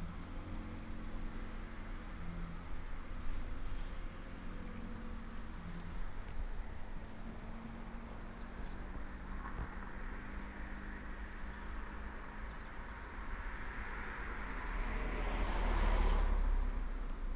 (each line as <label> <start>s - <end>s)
Traffic sound 0.0s - 17.3s